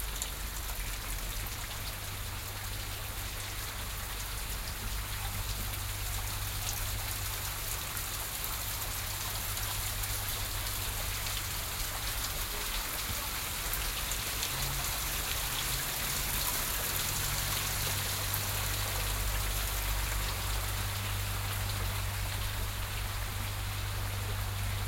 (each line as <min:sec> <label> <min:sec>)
0:00.0 water is rinsing down bushwoods 0:24.8